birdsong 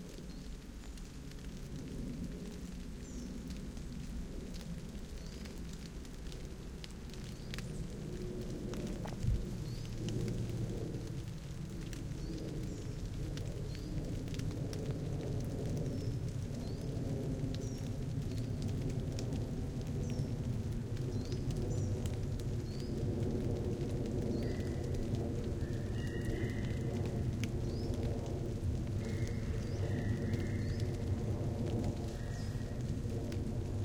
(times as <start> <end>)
9.0 10.0